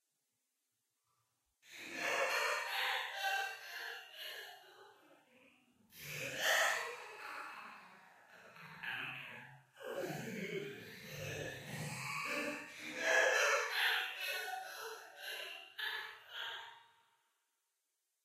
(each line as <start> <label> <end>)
1.8 guy laughing psychotically 5.0
12.3 guy laughing psychotically 16.6